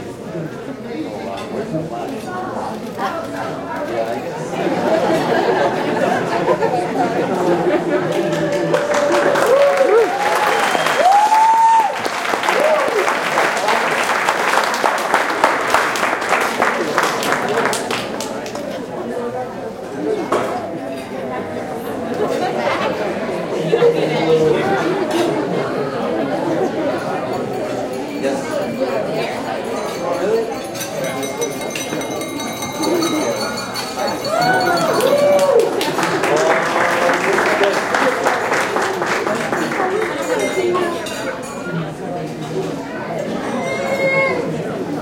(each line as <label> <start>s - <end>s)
Several hundred people talking 0.0s - 45.0s
cheer 8.1s - 17.8s
cheer 34.0s - 39.6s